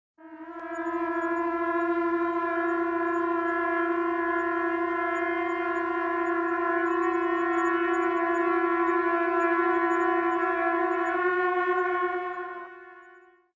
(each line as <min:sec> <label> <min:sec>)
0:00.2 trumpet chorus 0:13.5